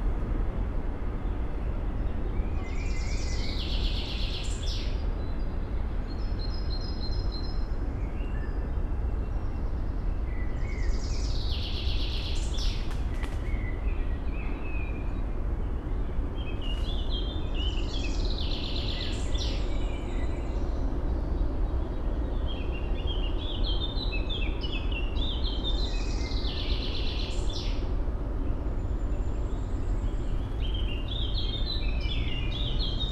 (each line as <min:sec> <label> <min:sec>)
0:00.0 city noise 0:33.1